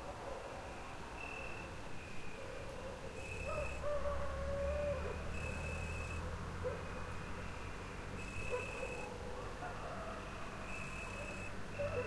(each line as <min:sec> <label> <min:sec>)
0:00.0 coyotes 0:12.0
0:00.4 crickets 0:09.2
0:08.5 dogs 0:10.2
0:10.2 crickets 0:12.0
0:11.7 dogs 0:12.0